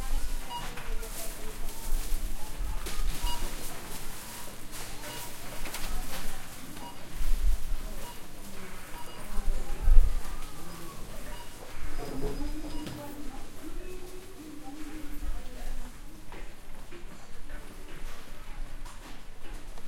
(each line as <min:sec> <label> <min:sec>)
0:00.0 people 0:19.8